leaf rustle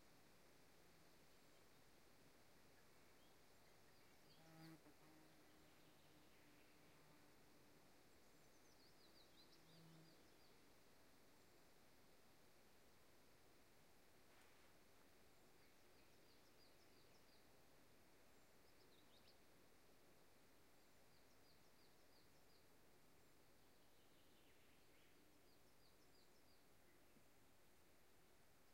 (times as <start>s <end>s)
12.6s 16.1s